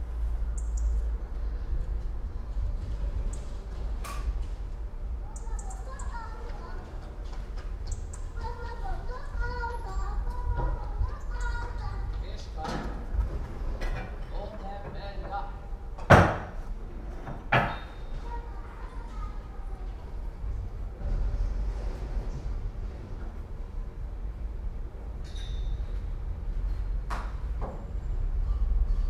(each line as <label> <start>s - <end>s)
bird 0.6s - 1.1s